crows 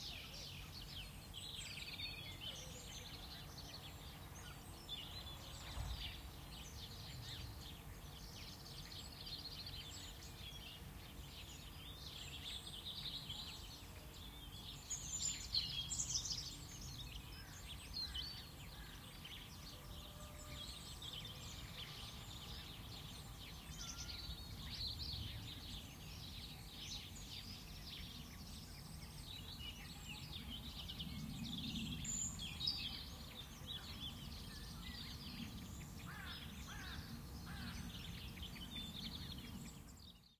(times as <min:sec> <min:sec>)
0:36.1 0:38.0